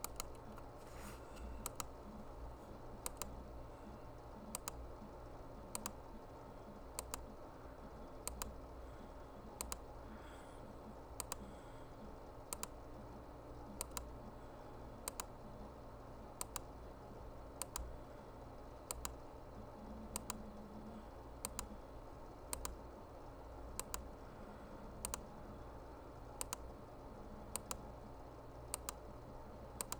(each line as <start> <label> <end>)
0.0 computer mouse clicking 3.4
4.4 computer mouse clicking 4.8
5.7 computer mouse clicking 6.0
7.0 computer mouse clicking 7.4
8.2 computer mouse clicking 8.7
9.4 computer mouse clicking 9.9
11.1 computer mouse clicking 11.5
12.5 computer mouse clicking 12.8
13.8 computer mouse clicking 14.1
15.0 computer mouse clicking 15.4
16.4 computer mouse clicking 16.8
17.6 computer mouse clicking 17.9
18.8 computer mouse clicking 19.2
20.1 computer mouse clicking 20.5
21.4 computer mouse clicking 21.8
22.5 computer mouse clicking 22.9
23.7 computer mouse clicking 24.2
24.9 computer mouse clicking 25.4
26.4 computer mouse clicking 26.8
27.5 computer mouse clicking 27.9
28.6 computer mouse clicking 29.1
29.8 computer mouse clicking 29.9